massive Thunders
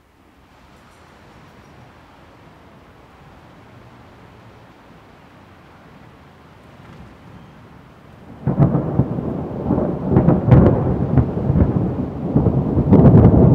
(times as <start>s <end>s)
8.2s 13.5s